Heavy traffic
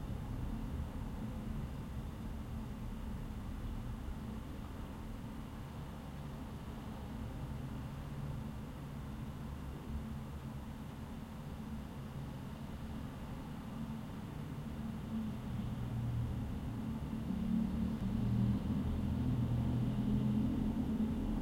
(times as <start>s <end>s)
14.2s 21.4s